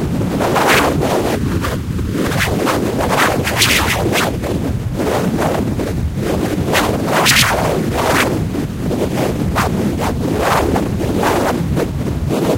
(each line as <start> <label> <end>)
0.6 short whipping sounds 1.1
2.2 short whipping sounds 4.4
6.7 short whipping sounds 8.4